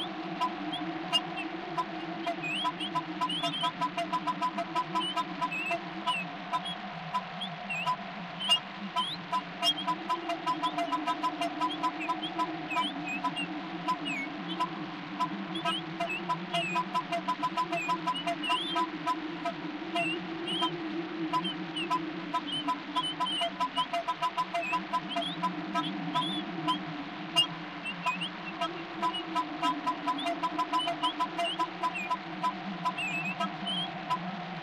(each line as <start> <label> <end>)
0.0 goose 34.6
0.0 wind 34.6